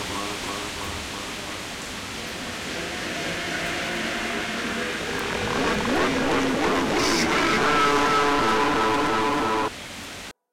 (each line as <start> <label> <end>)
2.3 background music 9.7